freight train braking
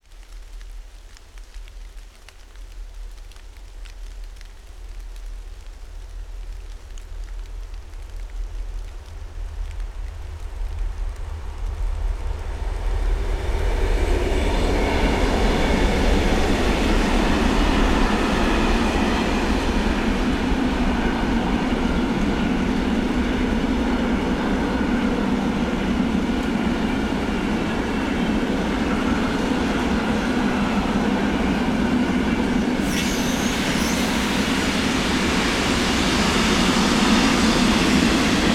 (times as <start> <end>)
32.0 38.5